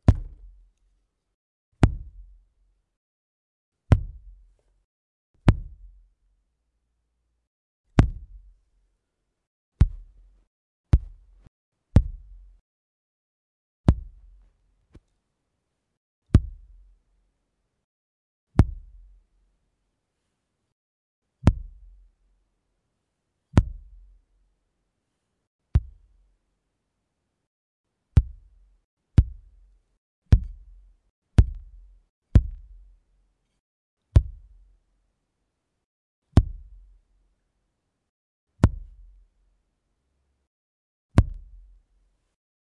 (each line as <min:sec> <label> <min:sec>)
0:00.0 Kick 0:00.6
0:01.8 Kick 0:02.4
0:03.9 Kick 0:04.5
0:05.4 Kick 0:06.0
0:07.9 Kick 0:08.6
0:09.8 Kick 0:12.6
0:13.8 Kick 0:15.0
0:16.3 Kick 0:16.8
0:18.6 Kick 0:19.0
0:21.4 Kick 0:21.9
0:25.7 Kick 0:26.1
0:28.2 Kick 0:28.6
0:29.2 Kick 0:29.6
0:30.3 Kick 0:30.8
0:31.4 Kick 0:32.8
0:34.2 Kick 0:34.6
0:36.4 Kick 0:36.8
0:38.6 Kick 0:39.1
0:41.1 Kick 0:41.7